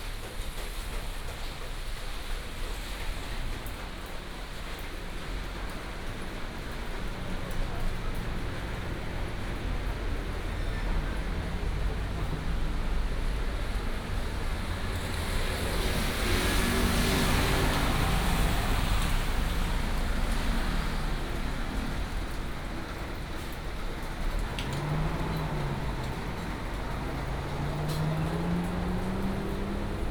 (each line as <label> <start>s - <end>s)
Traffic sound 0.0s - 30.1s
Walking in the alley 0.0s - 30.1s
raindrop sound 13.2s - 30.1s